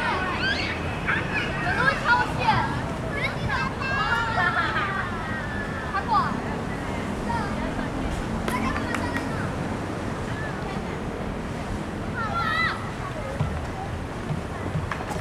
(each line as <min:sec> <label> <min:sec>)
0:00.0 Children playing games 0:06.4